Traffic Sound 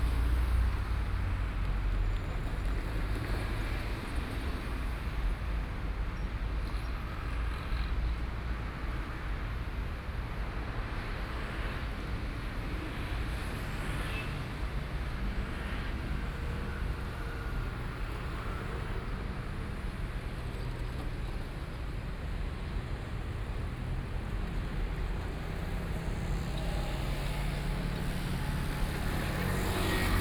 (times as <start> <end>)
12.8 30.2